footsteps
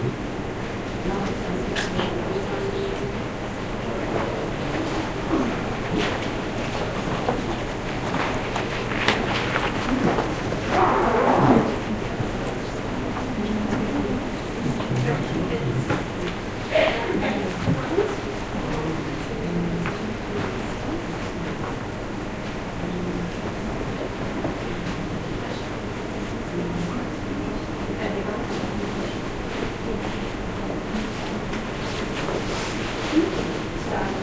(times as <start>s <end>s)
4.2s 11.9s